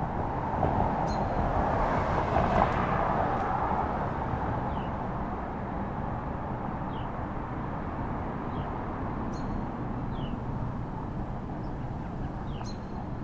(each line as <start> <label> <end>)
0.0 a few cars 13.2
11.2 birds 13.2